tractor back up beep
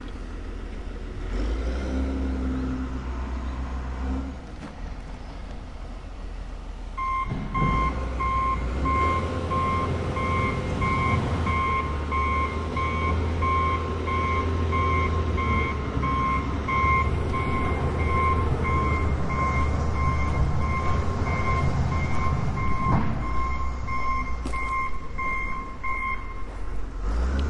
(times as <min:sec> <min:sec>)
0:07.0 0:26.5